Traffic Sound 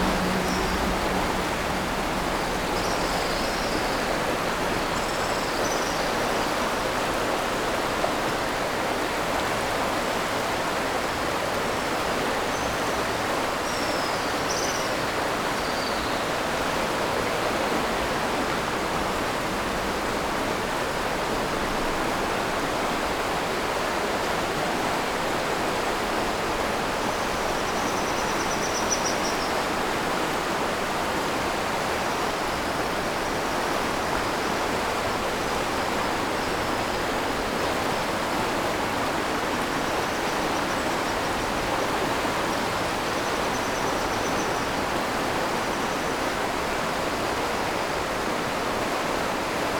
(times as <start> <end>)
0.0 6.3